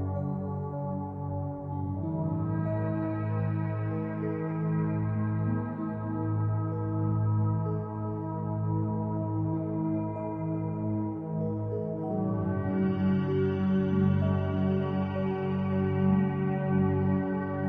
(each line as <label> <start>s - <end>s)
synthesizer 0.0s - 17.6s